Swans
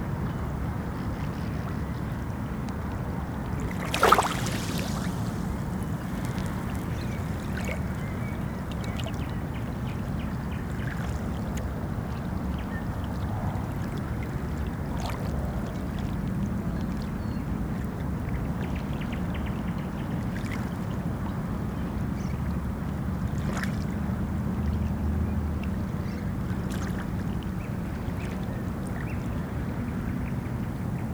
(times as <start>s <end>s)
3.6s 8.5s